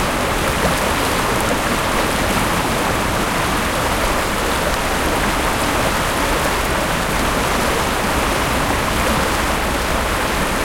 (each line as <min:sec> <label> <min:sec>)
0:00.0 river 0:10.6